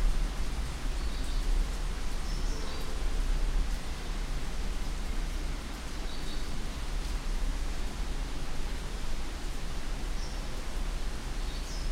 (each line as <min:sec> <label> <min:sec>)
0:00.0 drizzle (light rain) 0:11.9
0:00.0 wind 0:11.9